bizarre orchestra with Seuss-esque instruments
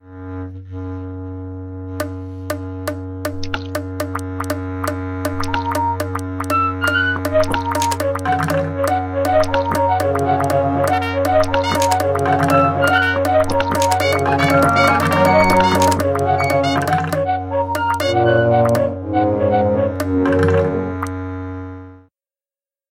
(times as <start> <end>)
5.3 21.1